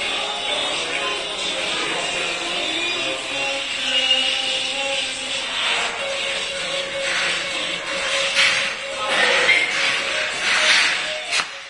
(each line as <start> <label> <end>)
0.0 voices 11.3
0.0 workers are renovating the stairwell 11.6
6.8 ladder 11.6